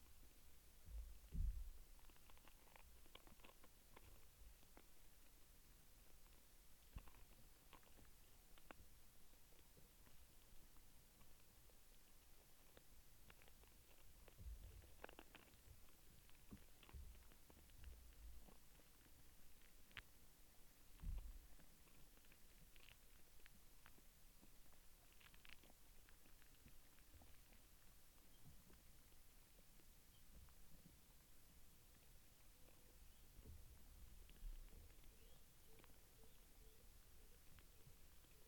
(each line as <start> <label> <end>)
25.0 tree in decay busy with hidden life 38.4